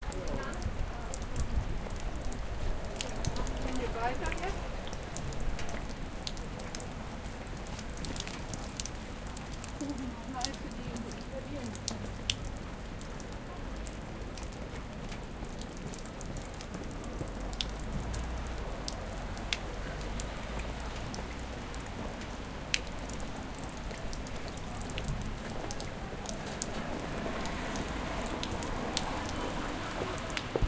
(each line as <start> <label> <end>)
0.0 Pedestrian 30.6
0.0 Raindrops 30.6
0.0 traffic 30.6